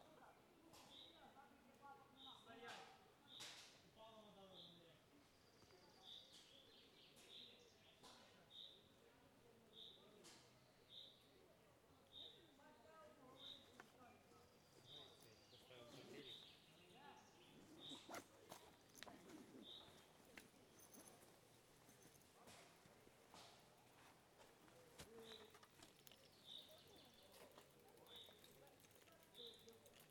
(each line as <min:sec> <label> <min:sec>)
0:12.0 cyclists 0:30.1